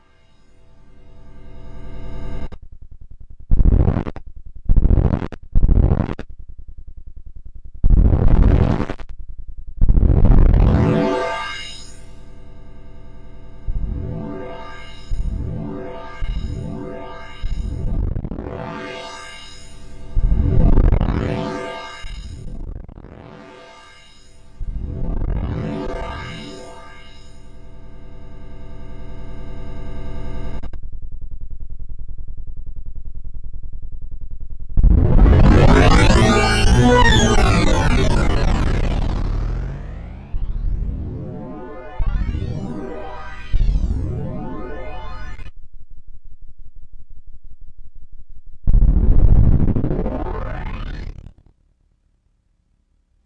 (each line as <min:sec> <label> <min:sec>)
0:34.8 pitch feedback 0:45.5